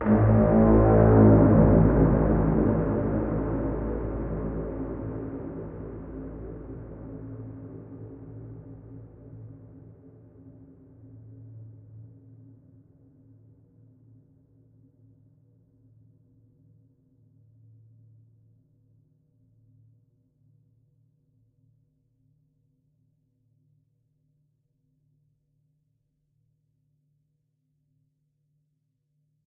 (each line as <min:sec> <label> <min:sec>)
0:00.0 Movie Horn 0:08.4